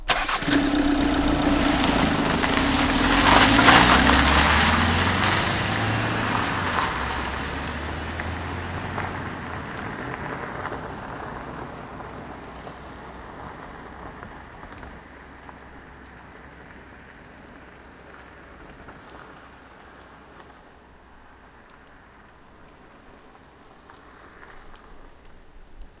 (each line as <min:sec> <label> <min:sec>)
0:00.0 Diesel engine is started 0:06.9
0:00.0 car throttles away 0:11.8